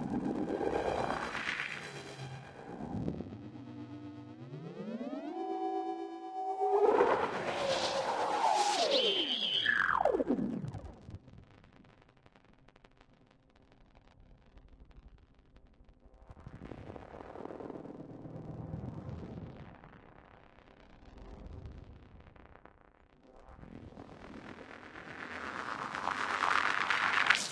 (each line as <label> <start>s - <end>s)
drone 0.0s - 11.0s
drone 25.0s - 27.5s